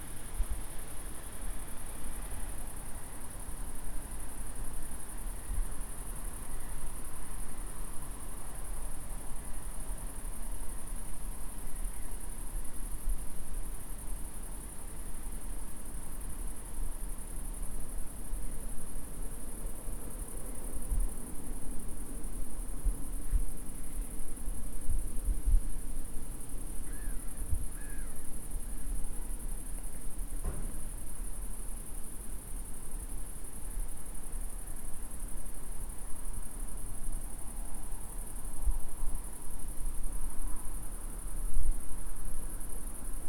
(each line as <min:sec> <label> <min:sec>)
0:00.0 crickets 0:43.2